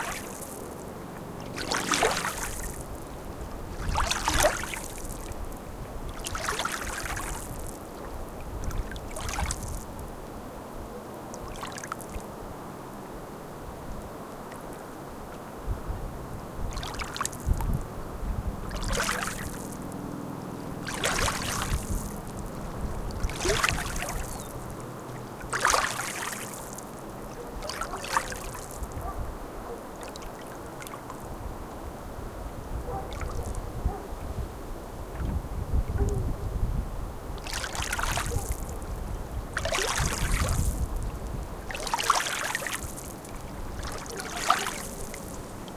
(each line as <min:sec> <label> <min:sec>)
0:00.0 water 0:45.7
0:00.0 wind 0:45.7
0:27.3 dogs barking in a distance 0:28.1
0:29.0 dogs barking in a distance 0:30.0
0:32.8 dogs barking in a distance 0:34.3
0:35.9 dogs barking in a distance 0:36.6
0:38.2 dogs barking in a distance 0:38.7